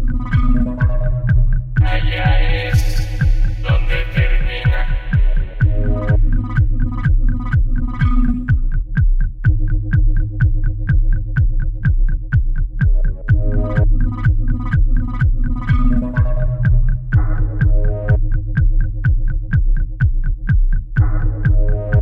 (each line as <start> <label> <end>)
0.0 synth 8.6
0.0 bass 22.0
0.0 drum 22.0
1.8 lovely vocal 6.3
13.0 synth 18.4